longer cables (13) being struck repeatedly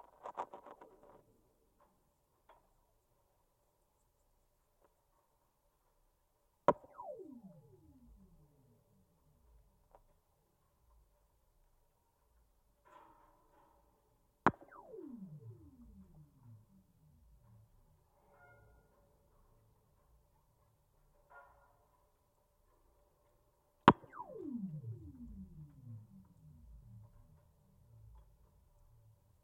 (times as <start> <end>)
6.7 8.9, 14.5 18.1, 23.9 29.4